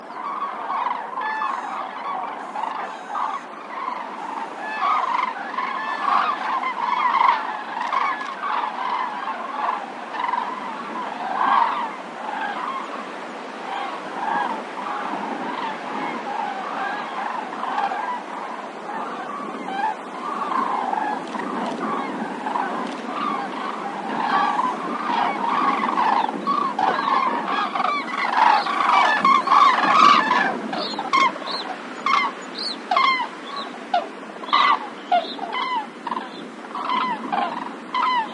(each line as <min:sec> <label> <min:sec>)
0:00.0 calls from overheading cranes 0:38.3
0:00.0 wind noise from nearby Evergreen Oaks 0:38.3